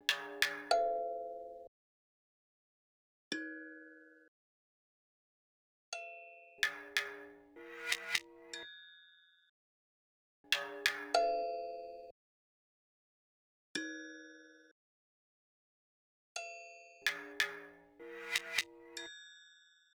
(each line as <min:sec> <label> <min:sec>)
0:07.8 sticks 0:08.3
0:18.2 sticks 0:18.7